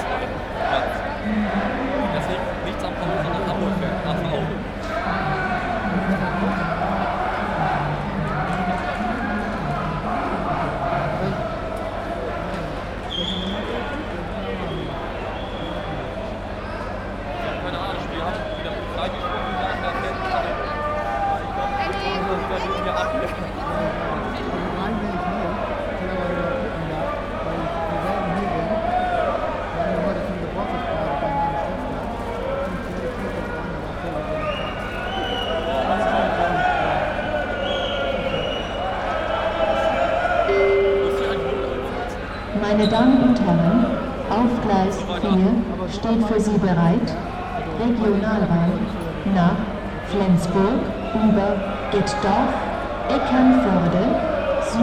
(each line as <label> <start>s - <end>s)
football fans 34.2s - 54.8s